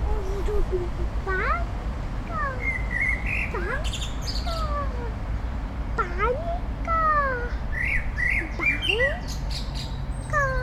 street traffic 0:00.0 - 0:10.6
Black bird 0:02.3 - 0:05.0
Black bird 0:06.9 - 0:10.6

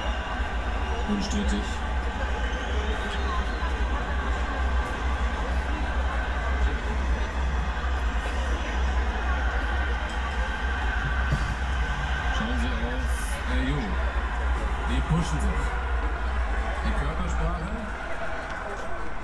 soccer world championship public viewing 0:00.0 - 0:19.2

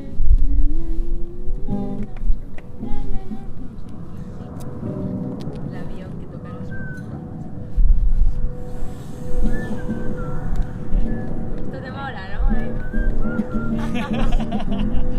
musical environment 0:00.0 - 0:15.1

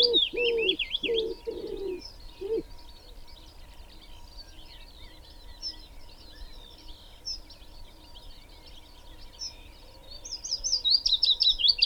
wood pigeon 0:00.0 - 0:02.6
pheasant 0:00.0 - 0:04.8
Willow warbler 0:00.0 - 0:11.8

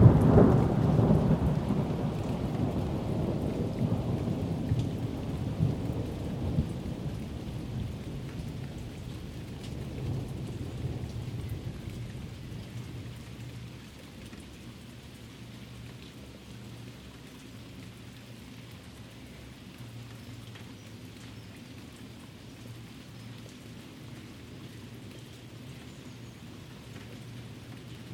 Rolling thunder 0:00.0 - 0:13.1
a little light rain 0:00.0 - 0:28.1

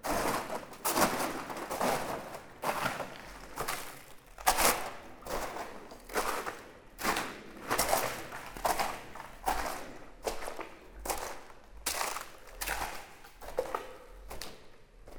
Walking in the underground mine 0:00.0 - 0:15.1
walking in a ultra-thick layer of calcite 0:00.0 - 0:15.1

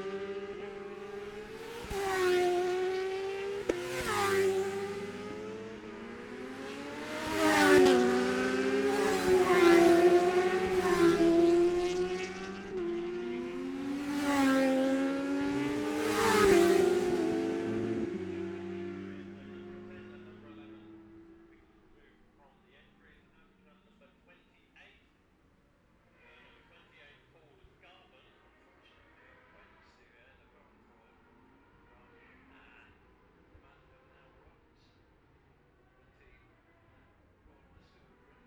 600cc qualifying 0:00.0 - 0:24.0

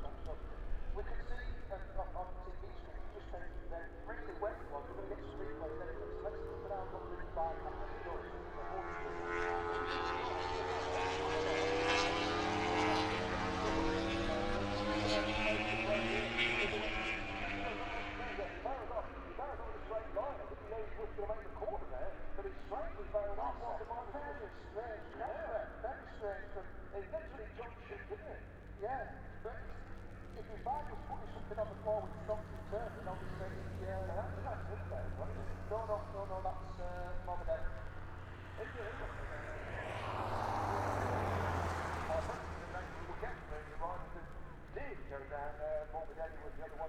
moto grand prix 0:00.0 - 0:46.8

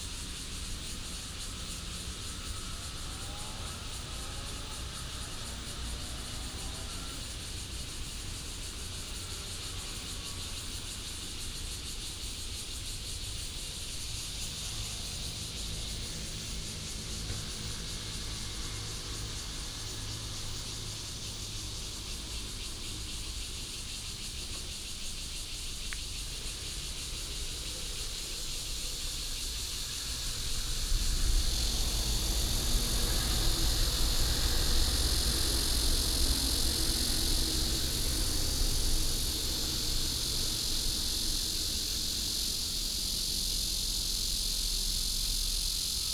Cicada cry 0:00.0 - 0:46.1
train runs through 0:13.1 - 0:46.1
Traffic sound 0:14.0 - 0:45.8

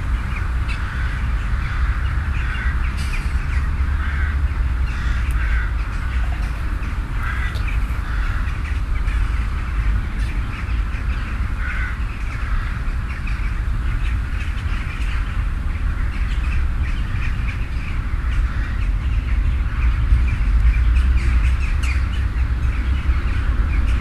Birds 0:00.0 - 0:24.0

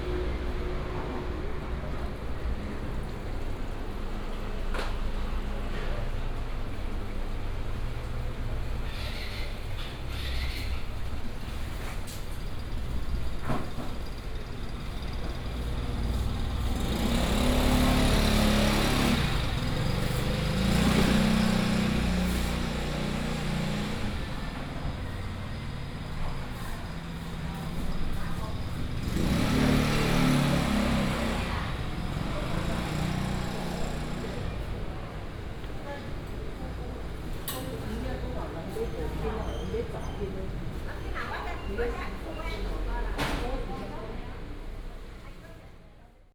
Traffic sound 0:00.0 - 0:46.0
Walking through the market 0:00.0 - 0:46.3

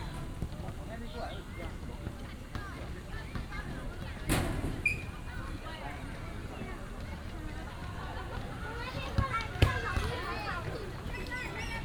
Many people 0:00.0 - 0:11.8

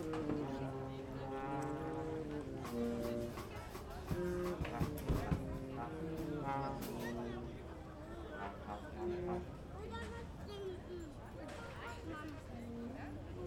teenage jazz band probe / rehearsal 0:00.0 - 0:09.8

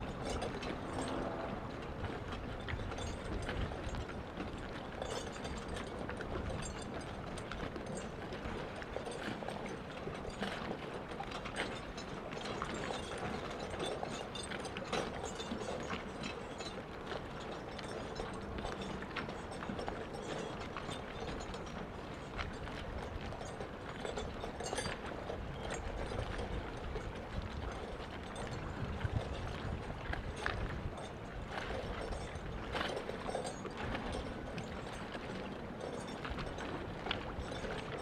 jangling sounds of boat masts in the wind 0:00.0 - 0:38.0

